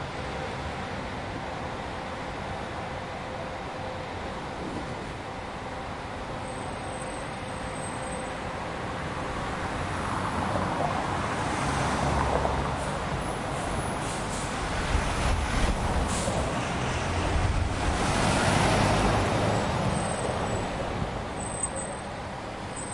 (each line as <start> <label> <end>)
0.0 Bus leaving 22.9
8.6 passing cars 22.9